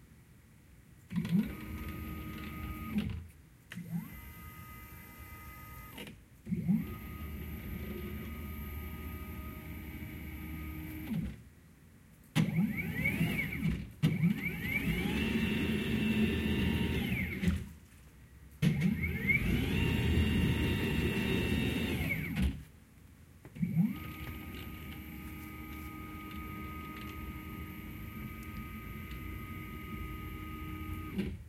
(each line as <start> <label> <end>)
12.4 movements with of 3d cutter 17.8
18.6 movements with of 3d cutter 22.6
23.6 movements with of 3d cutter 31.4